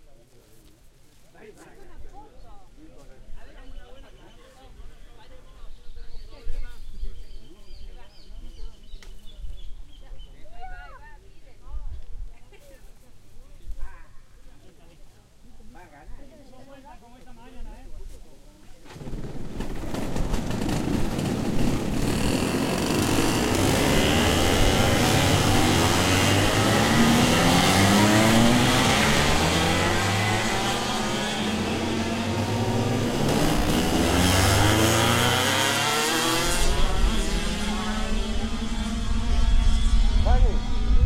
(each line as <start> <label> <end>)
0.0 wind 41.0
18.8 go karts 41.0